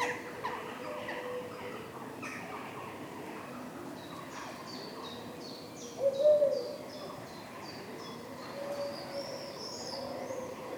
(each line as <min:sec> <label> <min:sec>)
0:00.0 Common Wood Pigeons 0:10.7